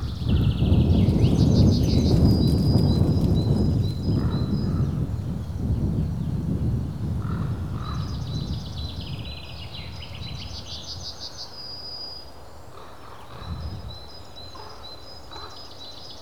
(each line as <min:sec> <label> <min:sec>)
0:00.0 birds sing in regular intervals 0:16.2